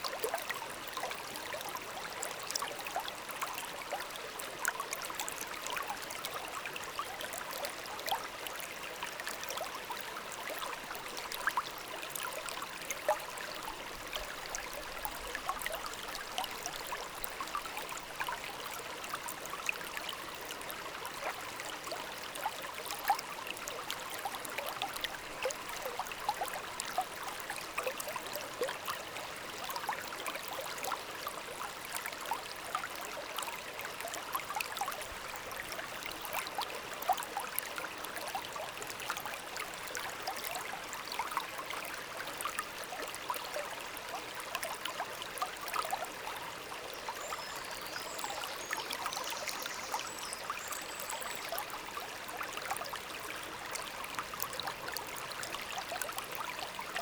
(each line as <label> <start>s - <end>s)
river flowing quietly 0.0s - 57.0s